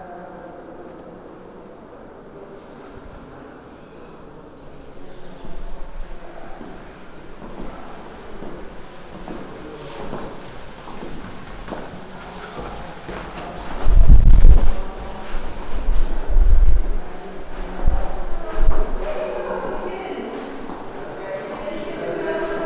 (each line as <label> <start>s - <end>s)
with clogs, walking the yellow colored hallway 2.2s - 22.6s